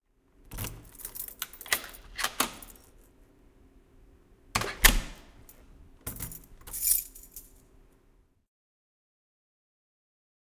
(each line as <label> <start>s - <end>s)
Keys in door 0.4s - 3.2s
door opens and closes 0.5s - 2.8s
door opens and closes 4.5s - 6.8s
Keys in door 4.6s - 7.8s